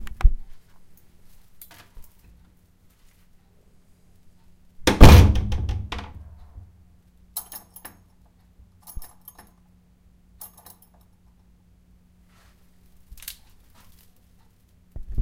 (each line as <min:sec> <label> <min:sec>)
0:04.9 heavy door 0:06.5
0:08.8 keychain 0:09.5
0:10.4 keychain 0:11.1